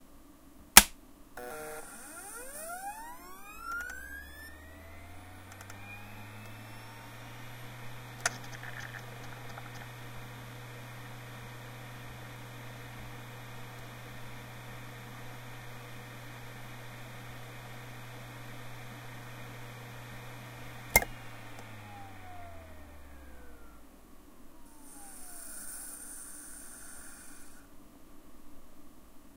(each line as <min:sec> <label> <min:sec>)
0:01.4 external hard drive spinning up then idling 0:23.9
0:24.5 external hard drive spinning up then idling 0:27.7